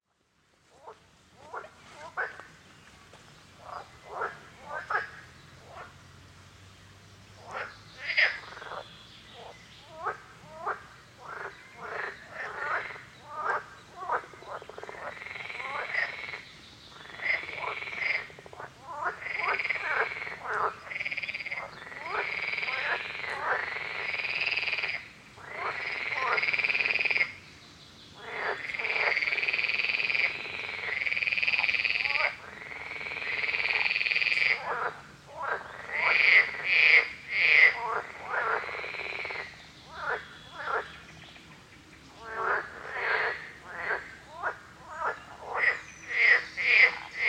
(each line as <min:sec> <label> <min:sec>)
0:00.7 frogs chorus 0:02.5
0:03.6 frogs chorus 0:06.0
0:07.4 frogs chorus 0:27.4
0:28.2 frogs chorus 0:47.2